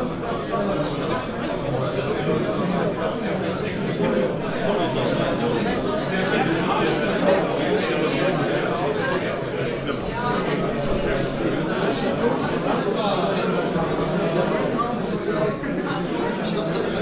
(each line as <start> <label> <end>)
0.0 exhibition guests conversation 17.0